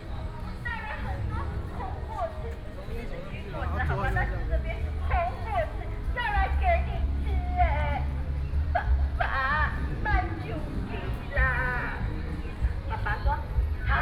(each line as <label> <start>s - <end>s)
Traffic Sound 0.0s - 14.0s
Various shops voices 0.0s - 14.0s
walking on the Road 0.0s - 14.0s